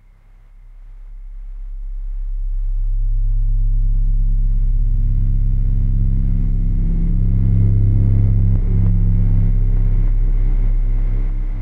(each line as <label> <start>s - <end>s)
Dark drone sound 2.0s - 11.6s